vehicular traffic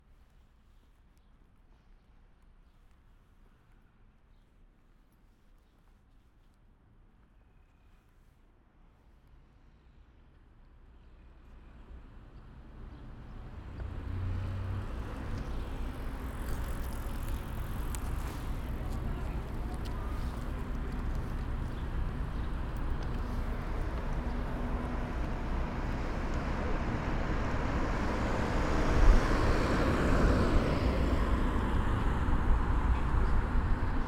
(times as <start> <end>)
10.1 34.0